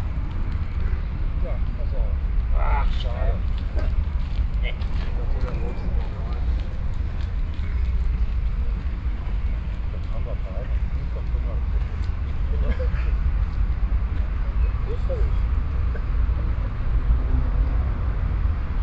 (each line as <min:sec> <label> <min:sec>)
0:03.4 jogger passing by 0:16.3